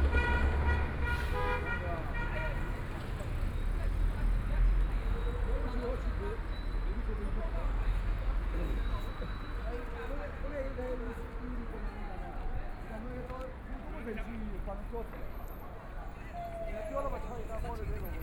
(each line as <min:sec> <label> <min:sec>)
0:00.0 Traffic Sound 0:06.5
0:00.0 crowd at the intersection 0:18.2